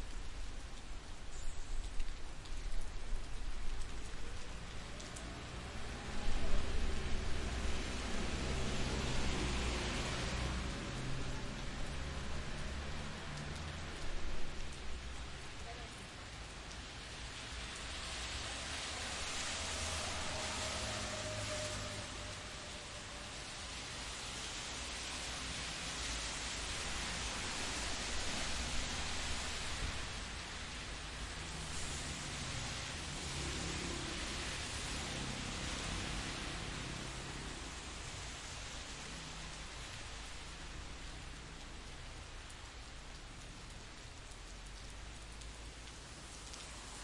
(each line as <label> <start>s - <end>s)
rain 0.0s - 47.0s
cars 16.6s - 47.0s